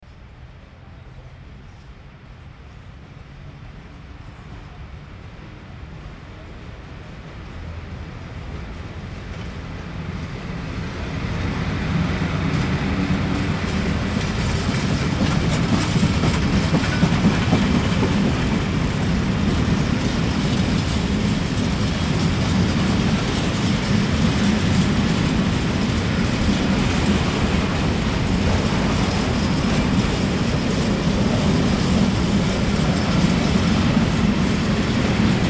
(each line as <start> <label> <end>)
0.0 Cargo train 35.4